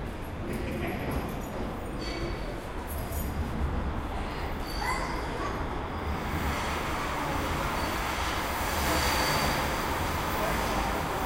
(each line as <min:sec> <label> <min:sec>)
0:00.0 tram approaches and leaves 0:11.2